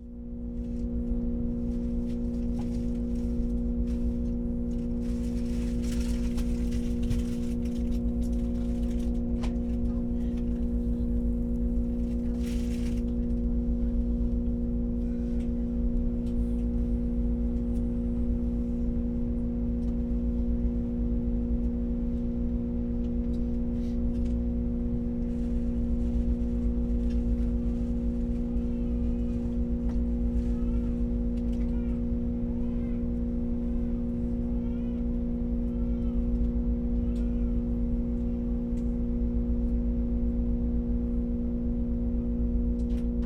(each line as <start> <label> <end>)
0.0 intense drone in cabin during train stop 43.2